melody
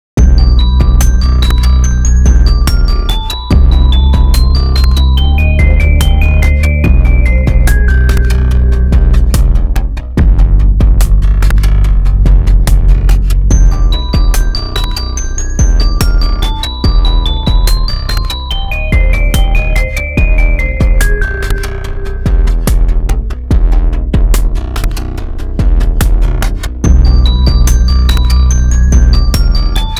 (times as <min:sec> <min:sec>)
0:00.2 0:09.4, 0:13.5 0:22.8, 0:26.9 0:29.9